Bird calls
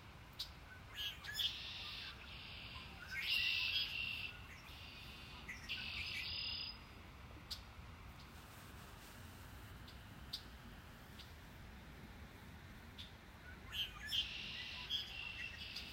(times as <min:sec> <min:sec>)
0:00.4 0:06.8, 0:13.0 0:15.9